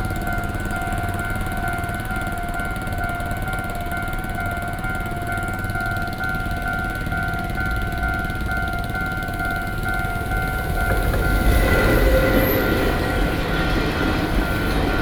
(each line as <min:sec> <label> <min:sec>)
0:00.0 Railway crossings 0:15.0
0:00.0 Traveling by train 0:15.0
0:07.6 Traffic Sound 0:15.0